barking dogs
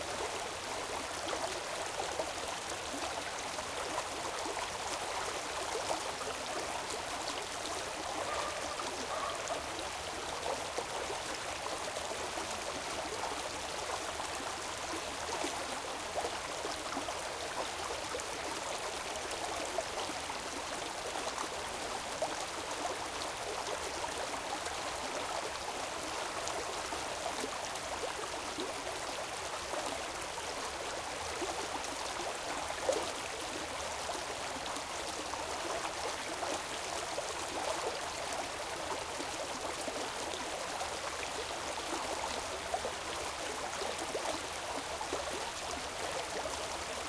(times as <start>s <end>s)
8.2s 9.6s